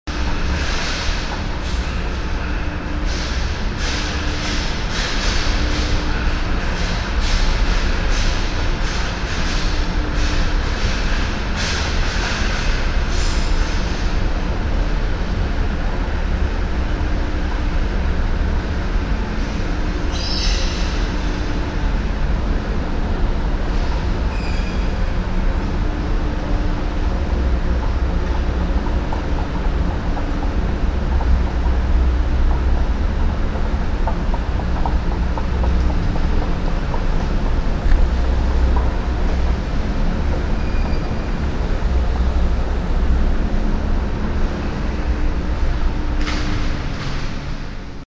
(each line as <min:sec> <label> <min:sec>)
0:23.0 moving stairs 0:42.6